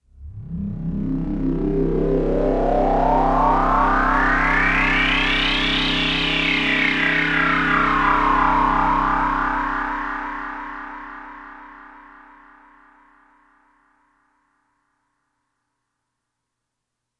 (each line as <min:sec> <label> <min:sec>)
0:00.2 synth 0:12.9